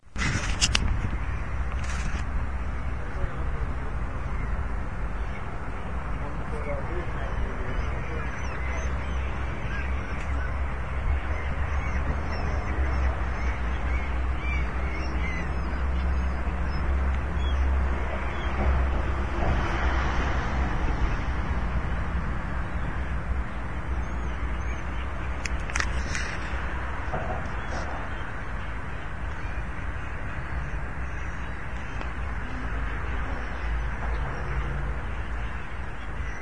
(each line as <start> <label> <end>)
0.0 cars on the bridge behind me 36.4
0.0 seagulls under the bridge 36.4